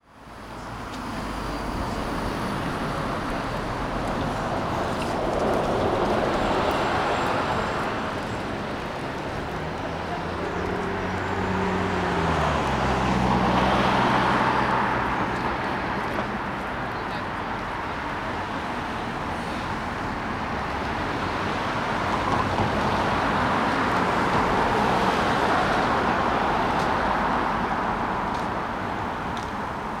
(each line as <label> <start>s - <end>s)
bus 0.0s - 30.0s
Cars 0.0s - 30.0s